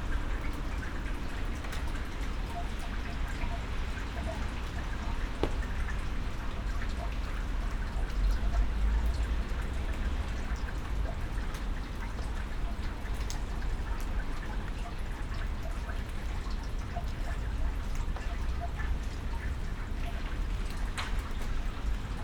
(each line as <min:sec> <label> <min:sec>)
0:00.0 rainwater runs off into a drain gully 0:22.2